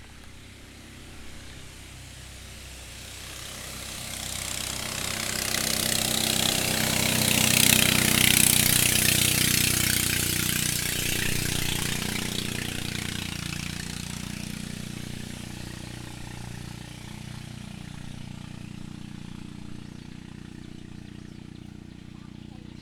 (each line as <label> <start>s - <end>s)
Boat drive by 0.0s - 22.8s